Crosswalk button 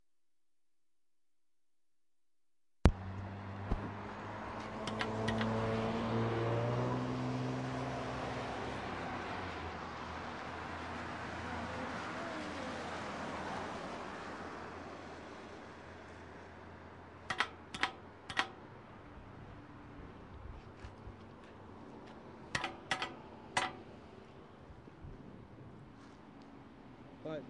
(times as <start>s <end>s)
4.8s 5.6s, 17.3s 18.6s, 22.6s 23.8s